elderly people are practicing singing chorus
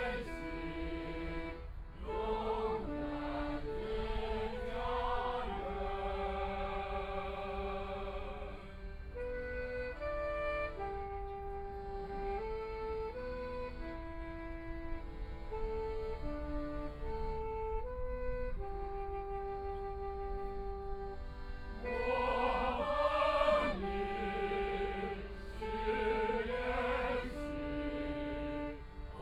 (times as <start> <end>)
0.0 8.7, 21.8 29.2